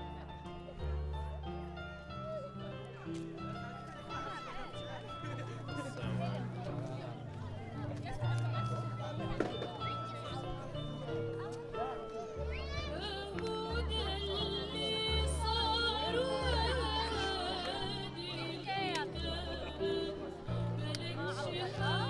singing 12.9 - 22.0

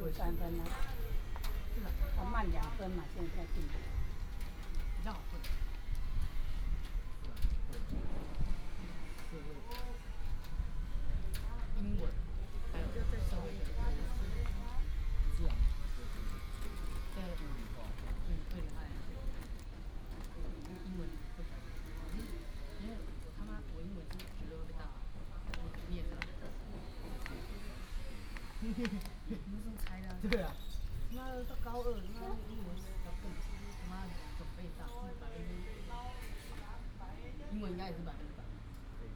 Train arrived 0.0 - 37.0

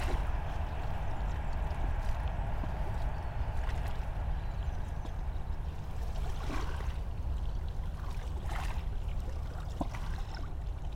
boat is passing by on the Seine river 0.0 - 10.9

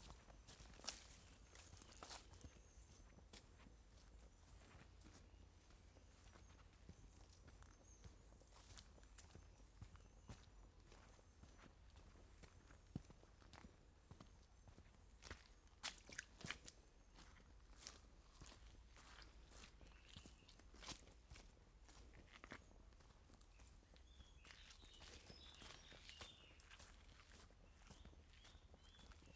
Walk Down A Footpath 0.0 - 29.3

